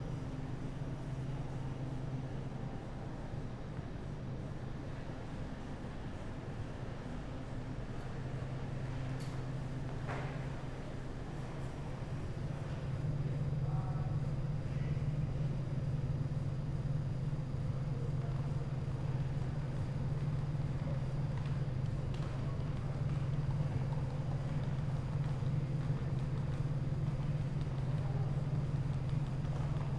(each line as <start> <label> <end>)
0.0 train 29.9